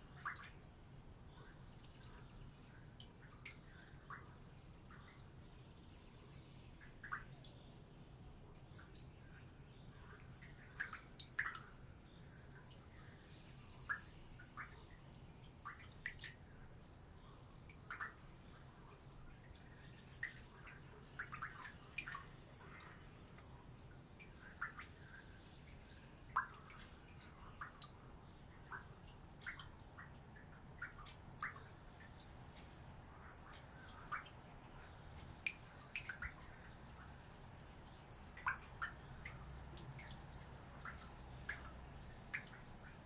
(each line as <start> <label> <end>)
0.0 Distant birds 43.0